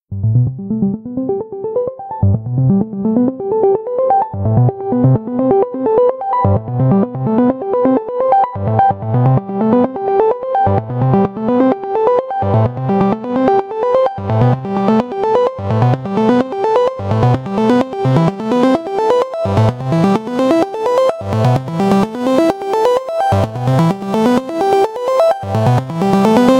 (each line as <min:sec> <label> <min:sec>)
0:00.2 synth 0:26.5